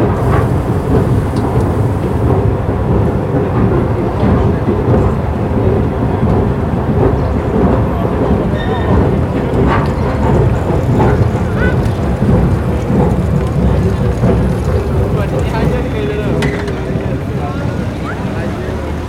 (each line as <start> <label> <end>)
0.0 métal noise 19.0
0.0 voices 19.0
5.6 footstep 19.0